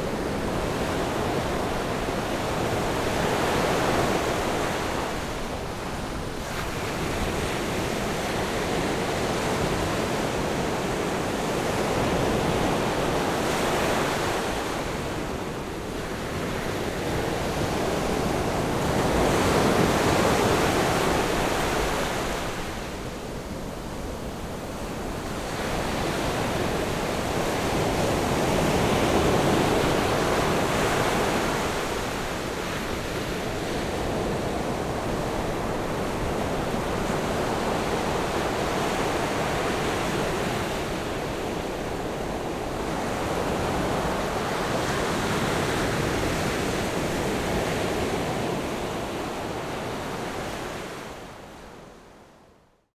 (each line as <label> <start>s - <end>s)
waves 0.0s - 52.3s